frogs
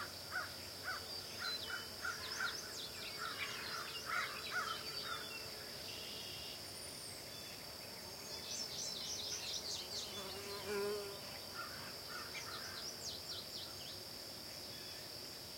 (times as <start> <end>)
0.0 6.6, 10.2 14.0